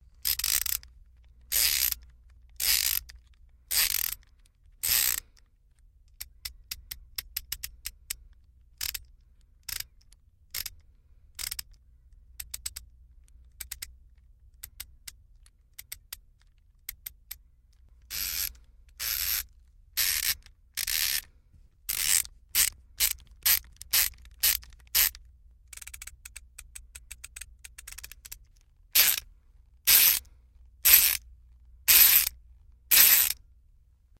Ratchet Screwdriver 0:00.2 - 0:00.8
Ratchet Screwdriver 0:01.5 - 0:02.0
Ratchet Screwdriver 0:02.6 - 0:03.1
Ratchet Screwdriver 0:03.7 - 0:04.2
Ratchet Screwdriver 0:04.8 - 0:05.2
Ratchet Screwdriver 0:18.1 - 0:19.4
Ratchet Screwdriver 0:20.0 - 0:21.3
Ratchet Screwdriver 0:21.9 - 0:25.2
Ratchet Screwdriver 0:29.0 - 0:29.2
Ratchet Screwdriver 0:29.9 - 0:31.2
Ratchet Screwdriver 0:31.9 - 0:33.4

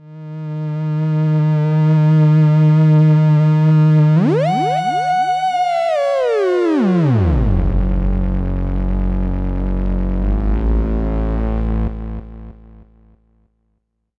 Analog Bass 0:04.0 - 0:13.3

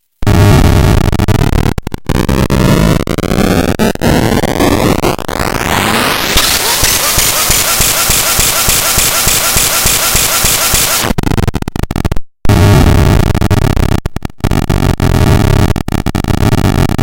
Engine ignition sound from circuit bent toy 0:05.6 - 0:11.2

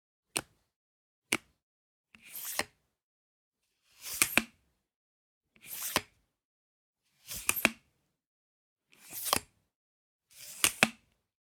Extending and retracting a tripod 0:07.3 - 0:07.8
Extending and retracting a tripod 0:10.4 - 0:11.0

